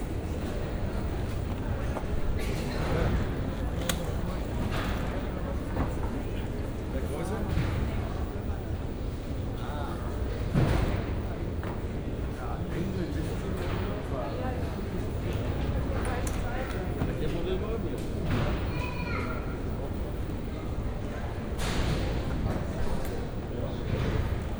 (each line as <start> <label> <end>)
0.0 tired and nervous people waiting 11.1